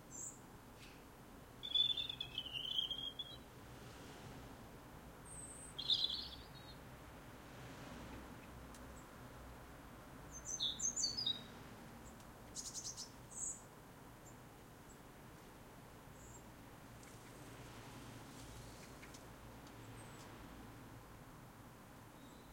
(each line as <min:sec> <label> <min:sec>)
0:01.6 birds 0:03.5
0:05.2 birds 0:06.9
0:10.3 birds 0:15.1
0:16.1 birds 0:17.7
0:18.3 birds 0:20.5